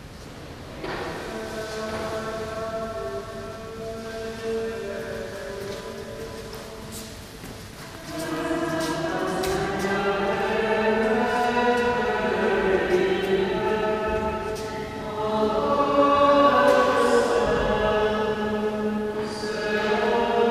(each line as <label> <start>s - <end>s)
Chanting 0.7s - 20.5s